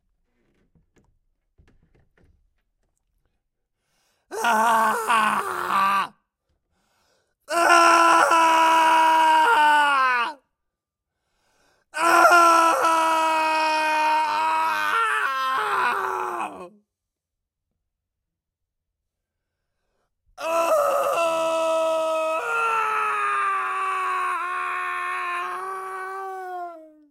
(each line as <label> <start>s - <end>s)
Male screaming close to the mic 4.3s - 6.2s
Male screaming close to the mic 7.5s - 10.4s
Male screaming close to the mic 12.0s - 16.8s
Male screaming close to the mic 20.4s - 27.1s